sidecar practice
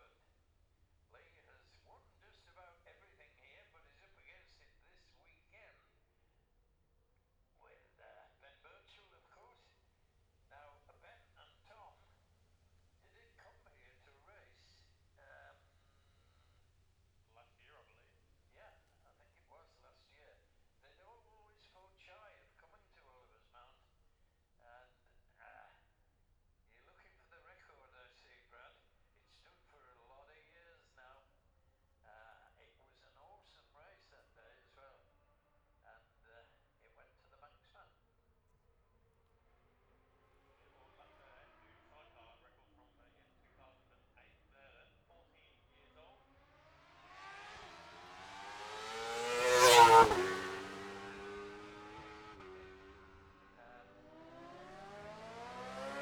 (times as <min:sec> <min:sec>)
0:38.9 0:42.9, 0:45.6 0:56.0